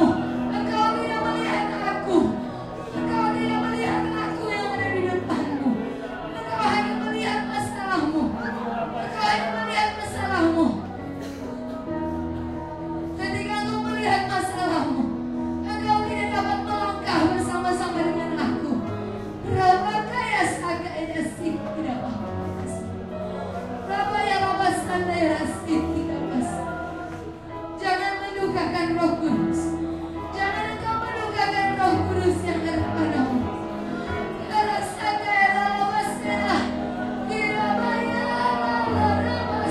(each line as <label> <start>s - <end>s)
congregation 0.0s - 39.7s
gospel music 0.0s - 39.7s